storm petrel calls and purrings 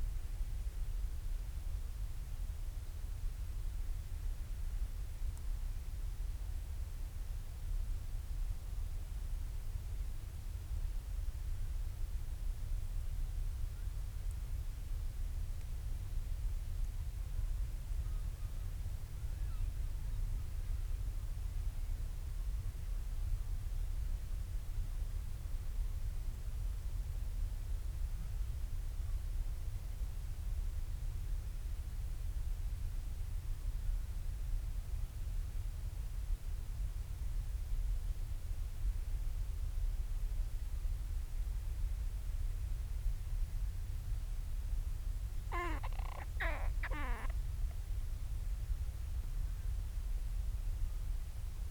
45.5s 47.4s

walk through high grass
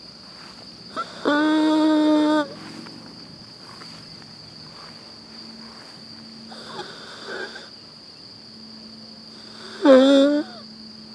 0.2s 0.9s, 1.6s 6.1s

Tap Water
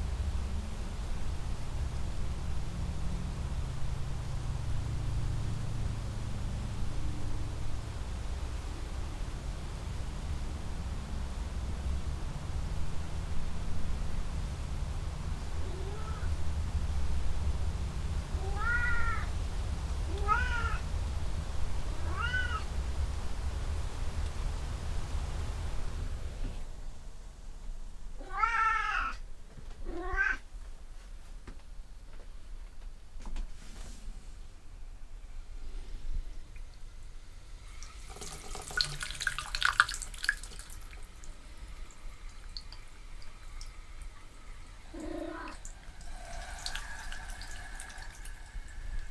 37.8s 44.8s

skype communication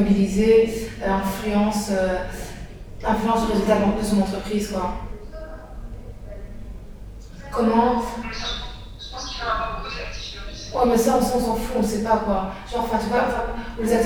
7.3s 14.0s

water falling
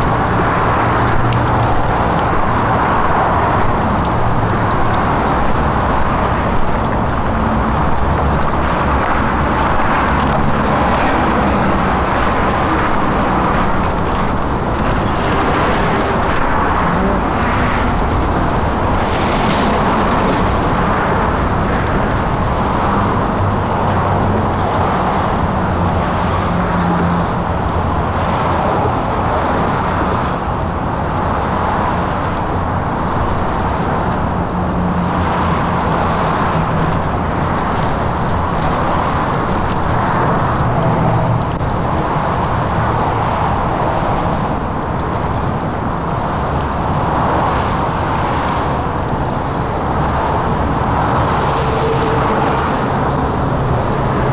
0.0s 21.1s

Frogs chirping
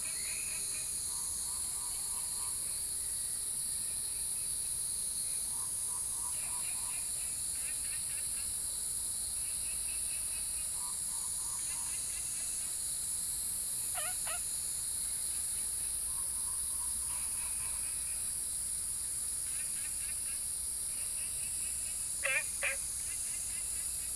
13.9s 14.4s, 21.3s 24.0s

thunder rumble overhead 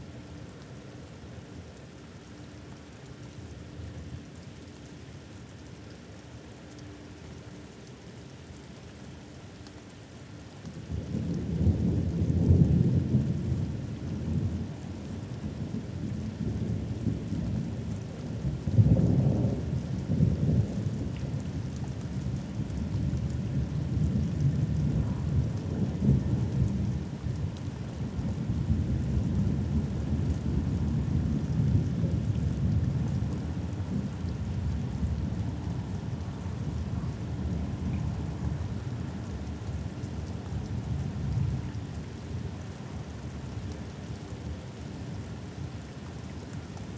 10.7s 46.9s

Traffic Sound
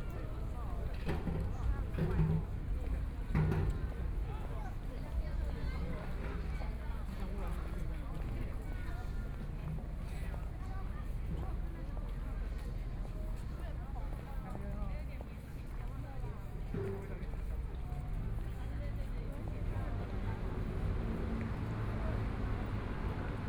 19.7s 23.4s

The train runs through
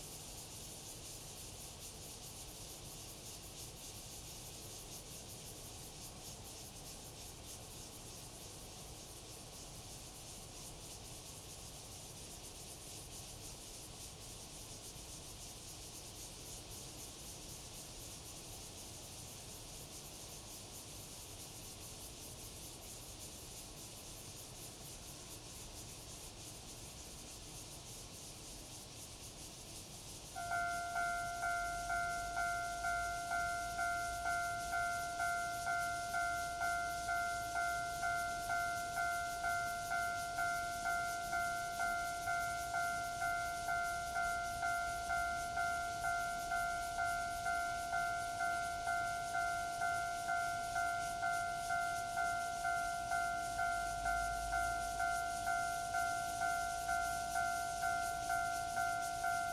30.3s 59.5s

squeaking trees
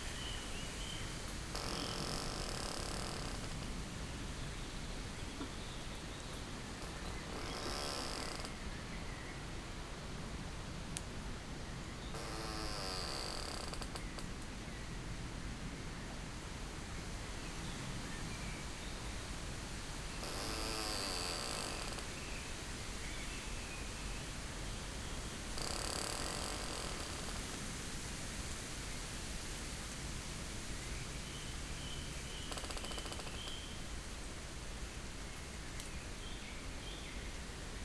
0.0s 3.8s, 5.3s 9.0s, 12.0s 14.3s, 20.0s 22.5s, 25.0s 27.6s, 31.8s 33.9s

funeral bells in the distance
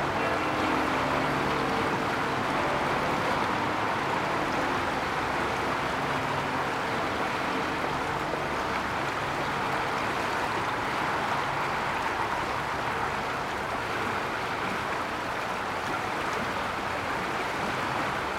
0.0s 8.5s

